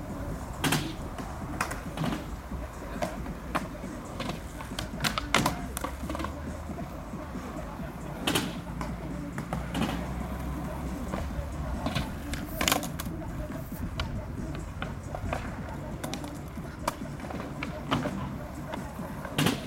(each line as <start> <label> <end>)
0.0 skateboarders 19.6